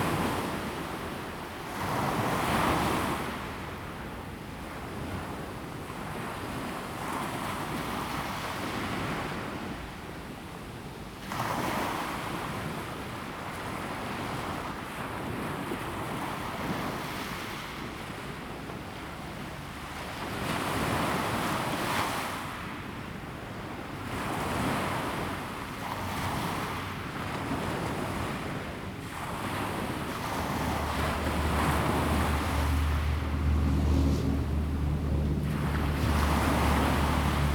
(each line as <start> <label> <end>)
28.0 traffic sound 37.5
29.9 Wave crash 37.5